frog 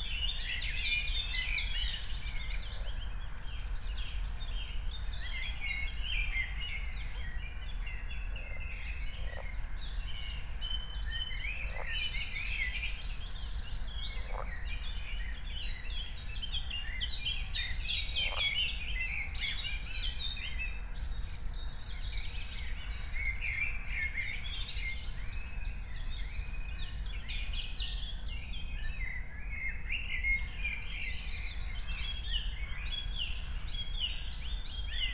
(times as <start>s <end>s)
2.3s 3.4s, 8.2s 10.4s, 11.3s 15.1s, 17.7s 20.1s